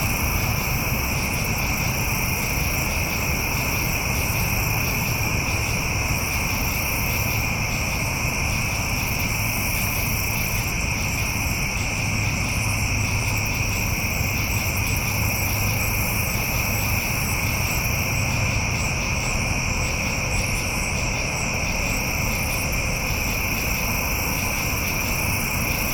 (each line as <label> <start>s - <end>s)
Insect chorus 0.0s - 25.9s